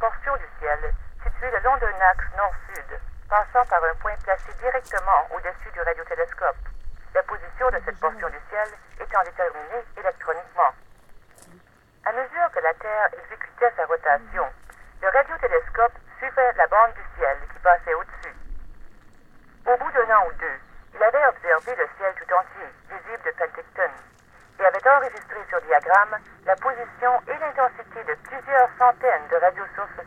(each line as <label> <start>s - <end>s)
boxes that playback audio recordings in French-Canadian or English 0.0s - 18.4s
boxes that playback audio recordings in French-Canadian or English 19.6s - 30.0s